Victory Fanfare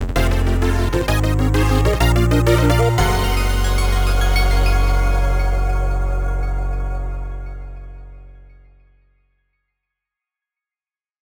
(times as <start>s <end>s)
0.0s 8.3s